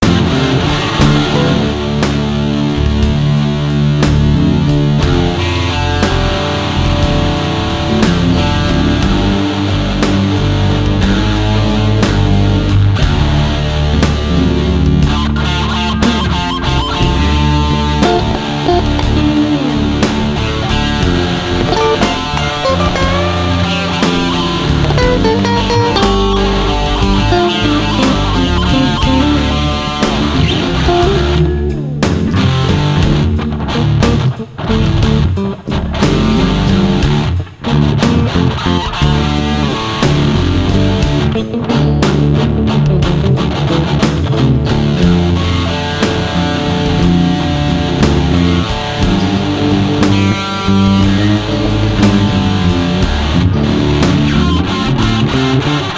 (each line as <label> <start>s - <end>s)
Blues Loop 0.0s - 55.9s